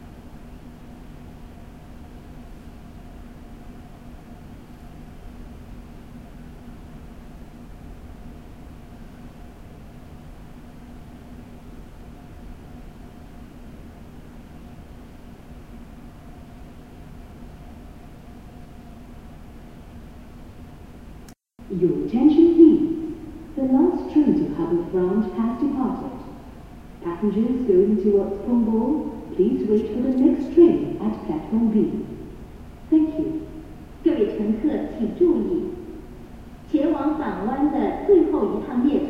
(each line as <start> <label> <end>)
21.6 Announcements 26.4
27.0 Announcements 32.2
32.9 Announcements 35.9
36.7 Announcements 39.0